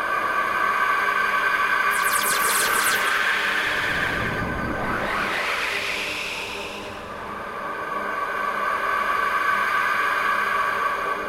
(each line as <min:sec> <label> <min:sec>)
0:01.8 drone 0:09.6